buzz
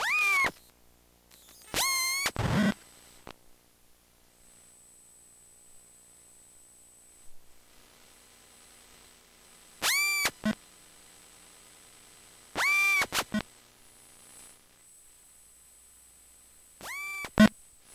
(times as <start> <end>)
0.0 0.7, 1.3 3.3, 7.6 15.3, 16.8 17.9